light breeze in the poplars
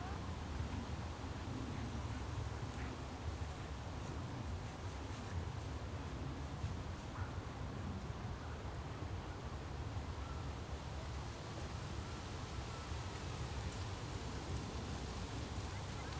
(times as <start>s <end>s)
12.7s 16.1s